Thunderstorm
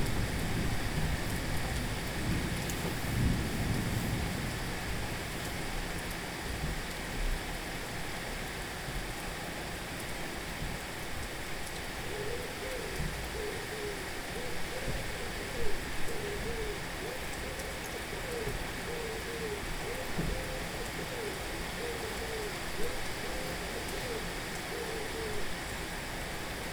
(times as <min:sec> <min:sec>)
0:00.0 0:05.8